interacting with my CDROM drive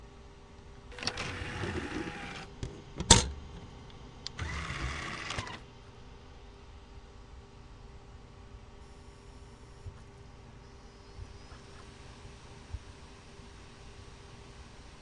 0.9 3.3, 4.3 5.6

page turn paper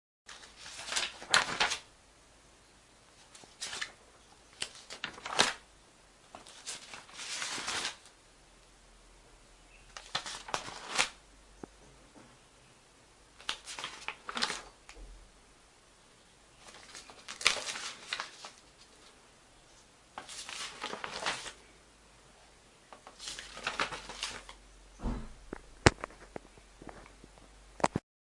0.3 1.8, 3.2 4.0, 4.6 5.6, 6.3 8.1, 10.0 11.2, 13.4 14.7, 16.6 19.1, 20.2 21.6, 23.0 24.6

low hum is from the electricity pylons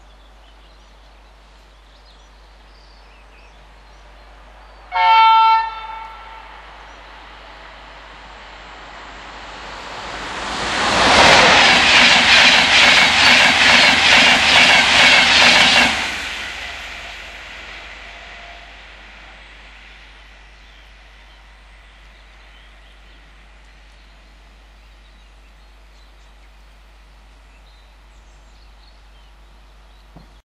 16.2 30.4

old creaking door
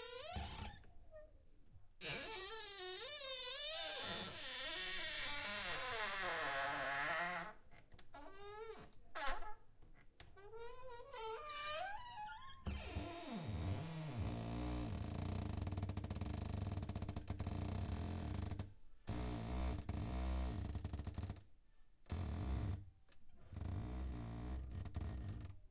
2.0 7.5

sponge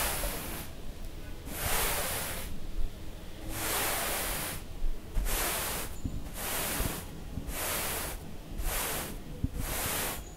1.5 2.5, 3.5 4.6, 5.2 10.3

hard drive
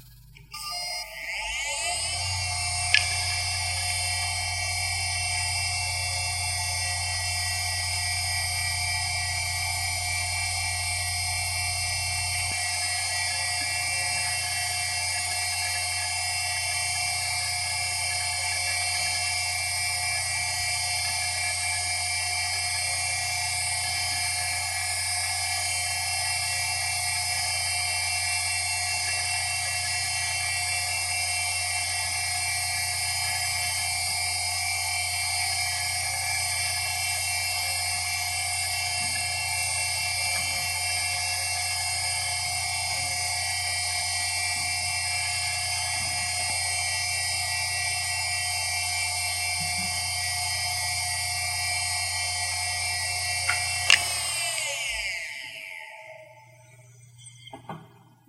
0.0 22.0, 53.2 55.2

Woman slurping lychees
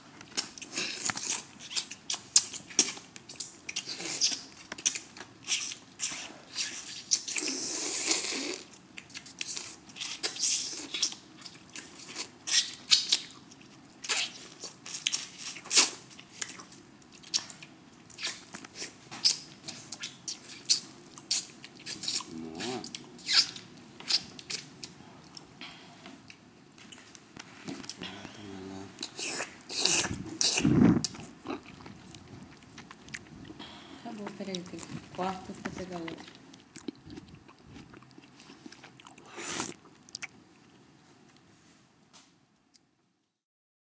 39.2 39.8

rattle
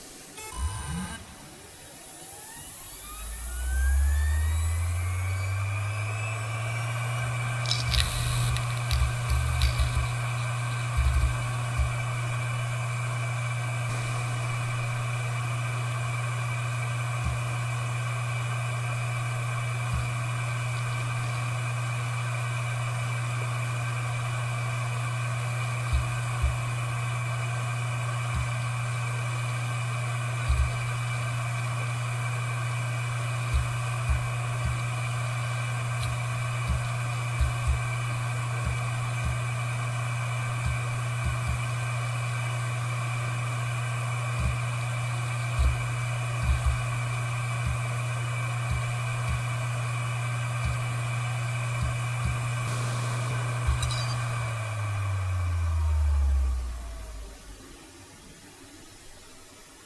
7.6 10.4, 53.7 54.4

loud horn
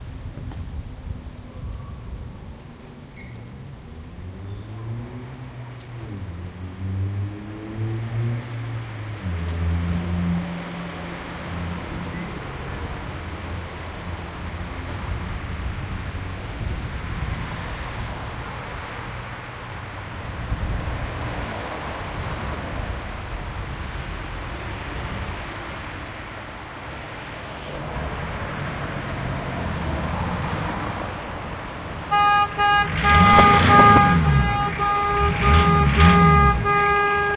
32.1 37.3

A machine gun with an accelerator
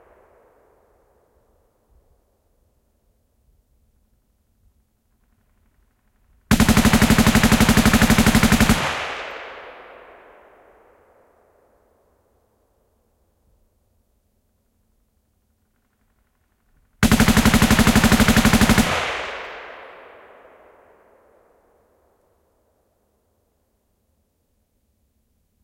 6.5 9.0, 17.0 19.1

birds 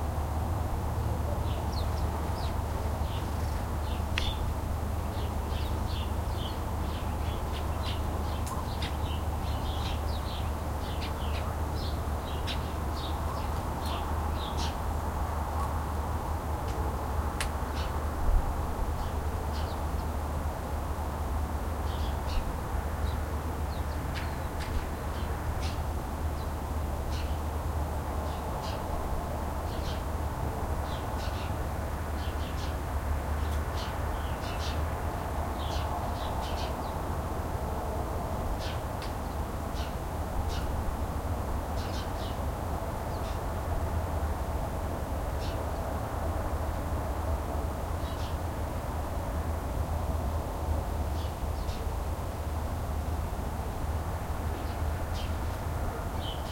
1.2 14.8, 33.4 37.1, 38.5 41.0, 41.6 43.5, 45.4 45.9, 51.1 51.9, 54.4 56.5

